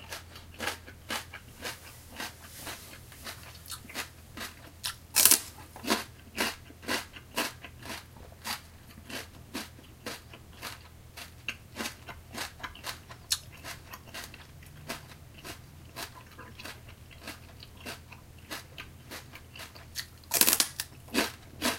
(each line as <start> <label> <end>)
0.0 Eating a shrub celery stalk 21.7